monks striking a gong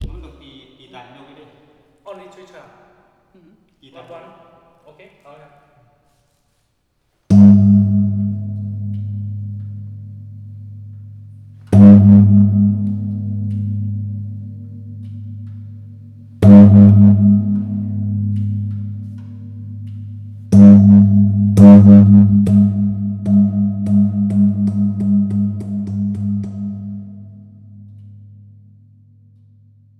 0.0s 0.8s, 7.3s 27.3s

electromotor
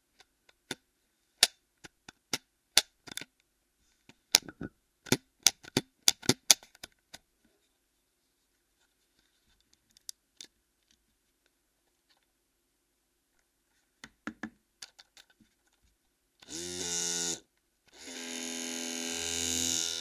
16.4s 20.0s

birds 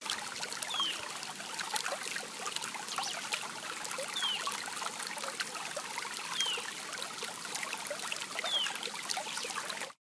0.7s 1.0s, 4.1s 4.5s, 6.3s 6.7s, 8.4s 9.6s

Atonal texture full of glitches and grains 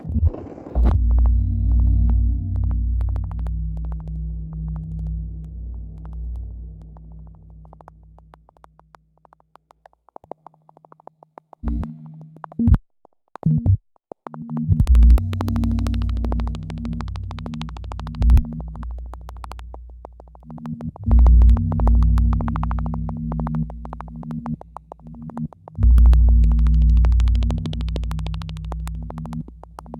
14.5s 29.9s

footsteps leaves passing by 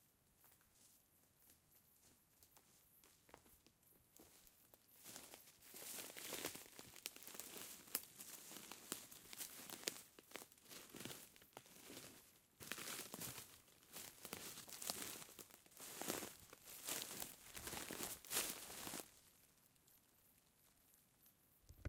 4.2s 19.4s

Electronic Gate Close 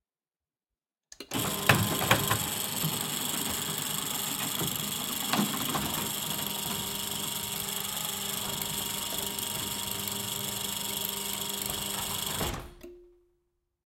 3.4s 12.9s

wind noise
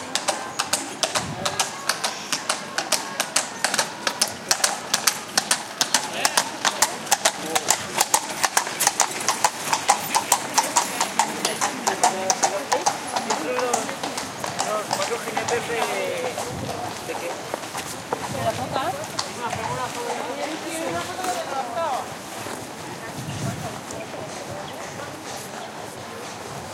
1.1s 1.8s, 15.5s 26.7s

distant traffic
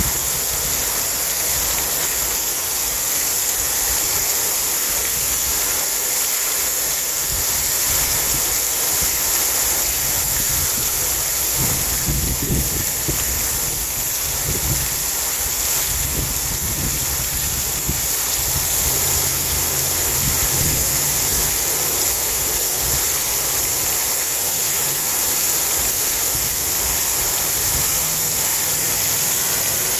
18.0s 22.8s, 26.5s 29.9s

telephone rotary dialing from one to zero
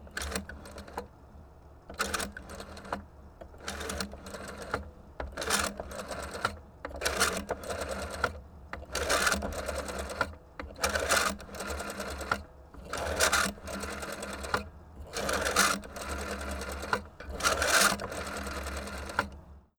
12.9s 19.4s

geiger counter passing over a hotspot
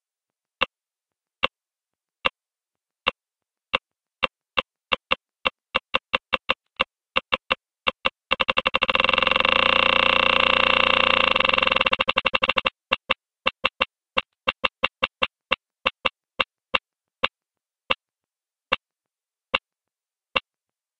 8.3s 12.8s

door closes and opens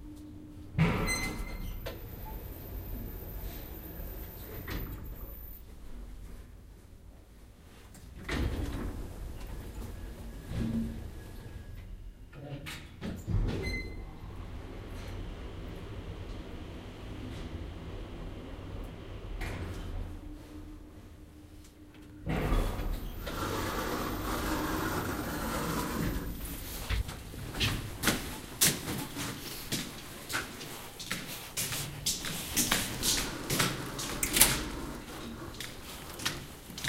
0.8s 2.4s

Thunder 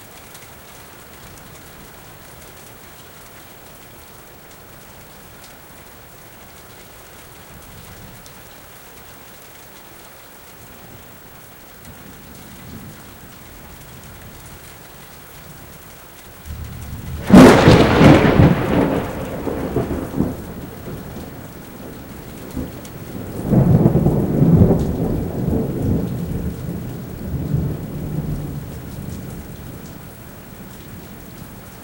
16.5s 29.9s

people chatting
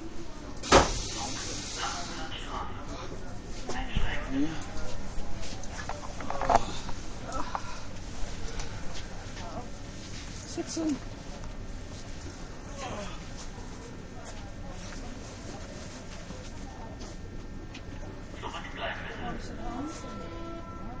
0.1s 7.7s, 12.6s 21.0s

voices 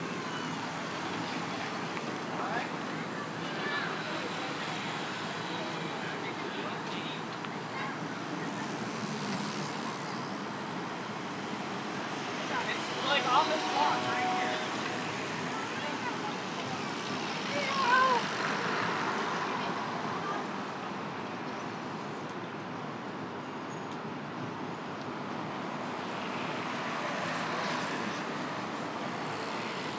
11.8s 21.8s

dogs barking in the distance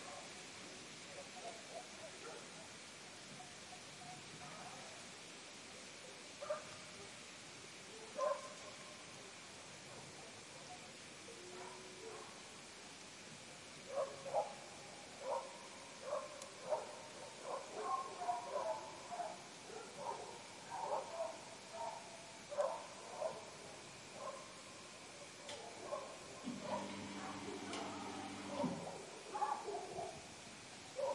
1.1s 2.7s, 6.4s 6.8s, 7.9s 9.0s, 11.4s 12.5s, 13.9s 30.3s, 30.9s 31.1s

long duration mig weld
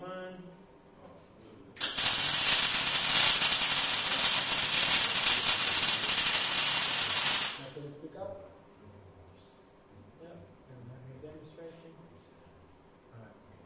1.8s 7.8s

